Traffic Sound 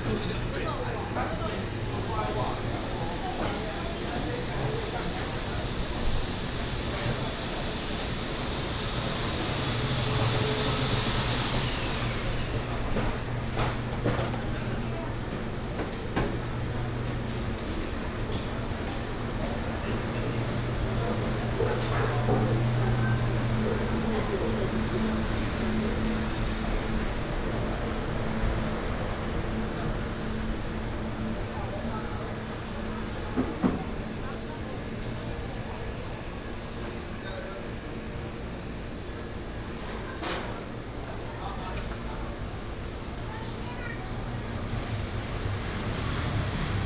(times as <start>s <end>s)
43.4s 46.8s